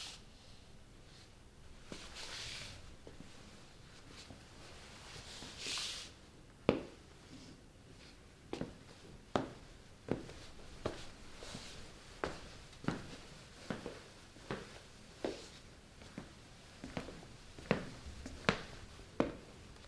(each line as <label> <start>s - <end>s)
footsteps walking in room 1.2s - 19.8s